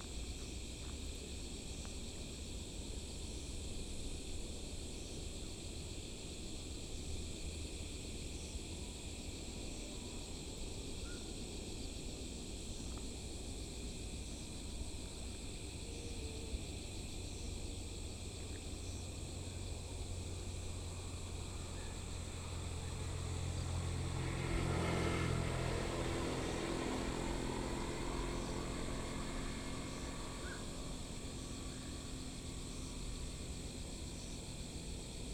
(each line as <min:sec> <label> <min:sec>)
0:04.9 Frogs 0:35.3
0:19.3 Traffic Sound 0:35.3